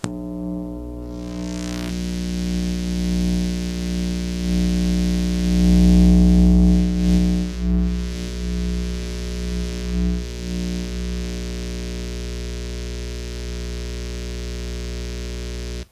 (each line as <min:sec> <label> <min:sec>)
0:00.0 interference 0:15.9